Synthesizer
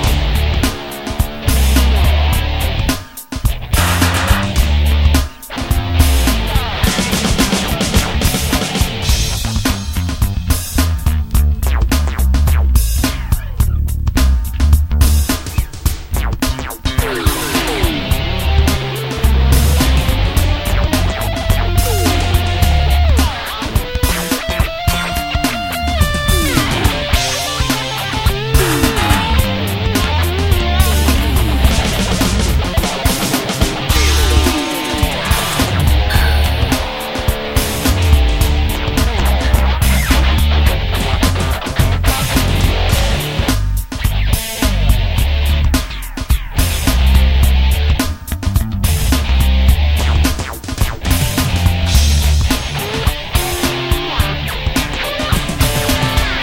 0.0 44.8

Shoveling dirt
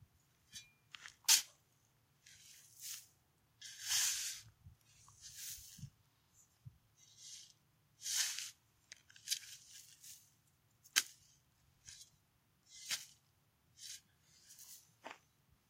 0.5 1.6, 2.2 4.5, 5.2 5.9, 7.0 10.3, 10.9 12.1, 12.7 13.2, 13.8 14.9

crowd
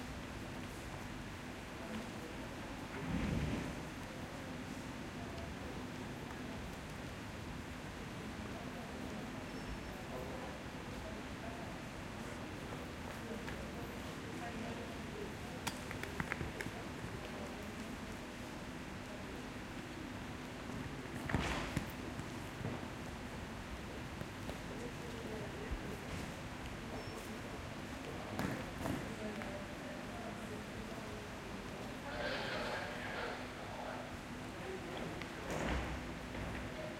24.6 36.9

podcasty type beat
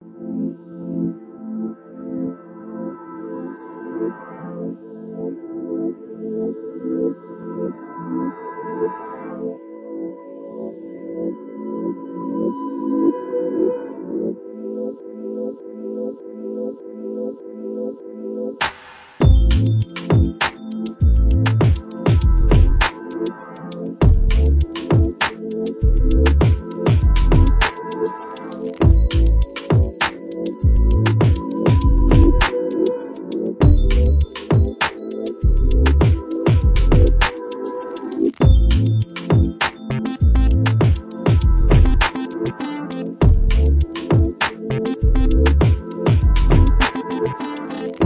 18.6 23.2, 24.0 48.0

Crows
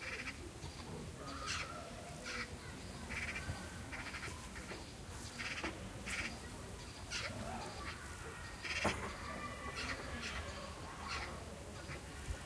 1.2 4.8, 7.1 12.1

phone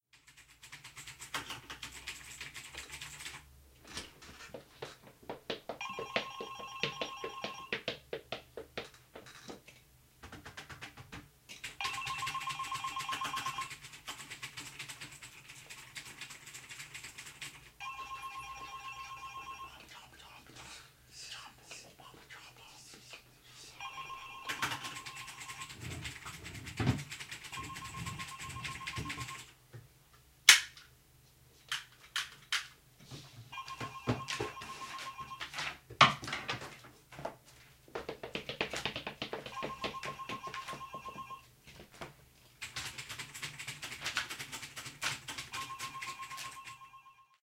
5.8 8.0, 11.8 13.8, 17.8 19.8, 23.8 26.0, 27.5 29.5, 33.5 35.7, 39.3 41.5, 45.4 47.4

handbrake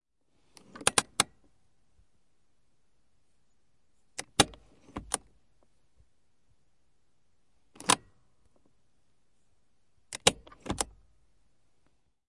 0.6 1.4, 4.2 5.3, 7.8 8.1, 10.1 11.0

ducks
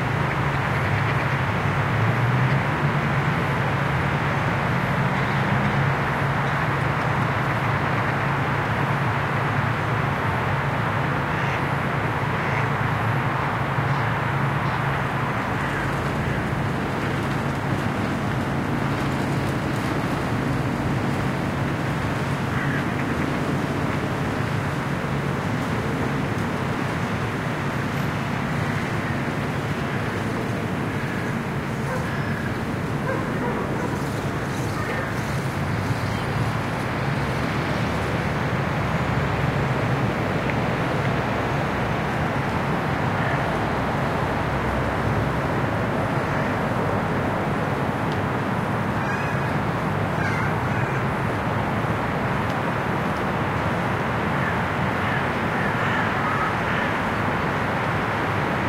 11.2 12.8, 15.4 25.7, 28.4 36.6, 49.0 51.2, 54.3 57.0

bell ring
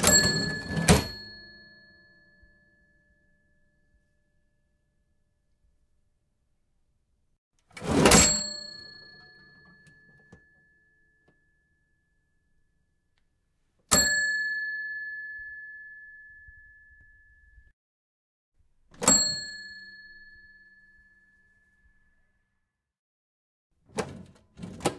0.0 2.7, 8.0 11.2, 13.9 17.5, 19.0 21.1

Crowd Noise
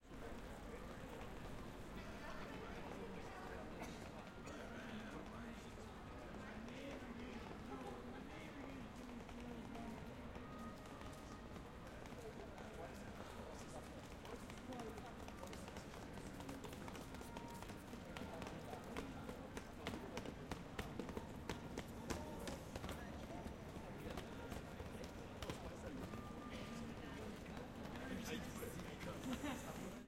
8.0 30.0

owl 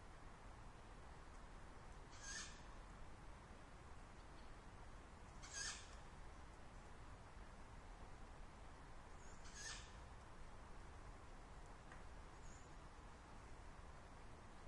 2.1 2.8, 5.4 6.0, 9.2 10.0

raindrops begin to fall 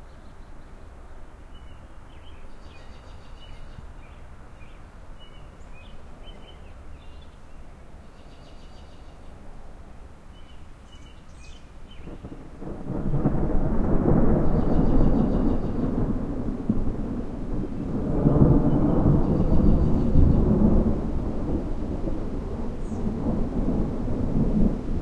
11.7 25.0

